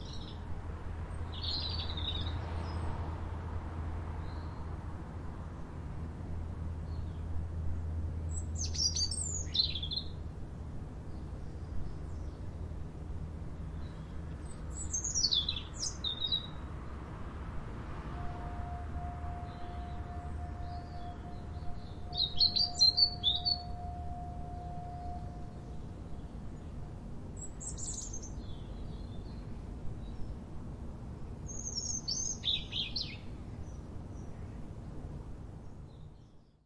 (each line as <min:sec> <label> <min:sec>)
0:00.0 nice clear birdsong 0:03.4
0:00.0 faint sounds of a city in the distance 0:36.6
0:04.1 nice clear birdsong 0:17.2
0:13.9 very distant foghorn 0:30.6
0:18.2 nice clear birdsong 0:36.6